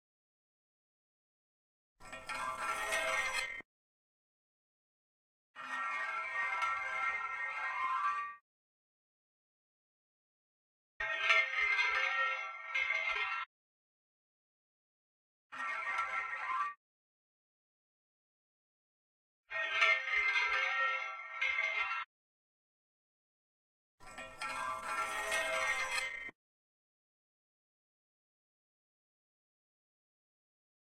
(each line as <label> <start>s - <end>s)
metal pipe sliding or being dragged across a metal stair railing 2.0s - 3.6s
metal pipe sliding or being dragged across a metal stair railing 5.6s - 8.4s
metal pipe sliding or being dragged across a metal stair railing 24.0s - 26.4s